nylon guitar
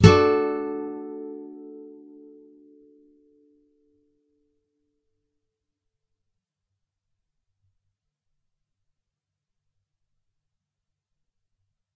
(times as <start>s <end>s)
0.0s 3.6s